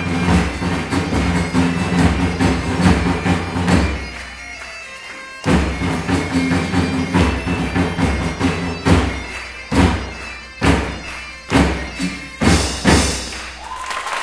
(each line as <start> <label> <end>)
0.0 Medieval Music 13.8